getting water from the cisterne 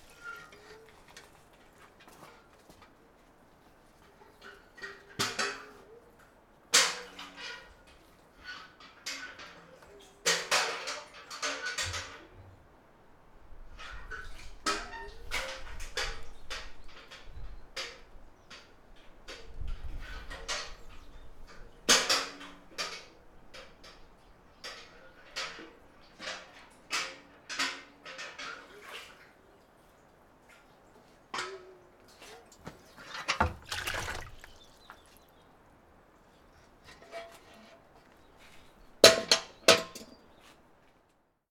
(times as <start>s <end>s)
32.0s 35.5s